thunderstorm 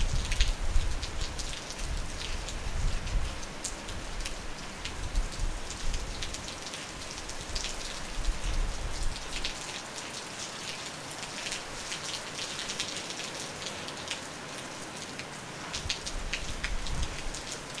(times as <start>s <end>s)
0.0s 3.4s, 15.8s 17.4s